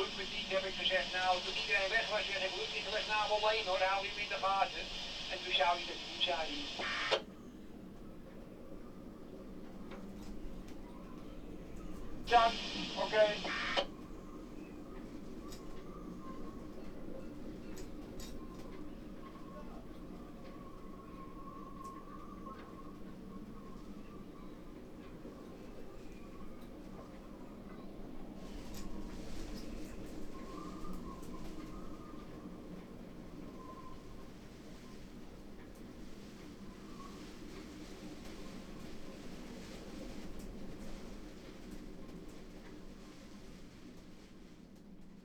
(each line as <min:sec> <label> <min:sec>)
0:00.0 radio traffic on channel 73 0:07.2
0:12.3 radio traffic on channel 73 0:13.9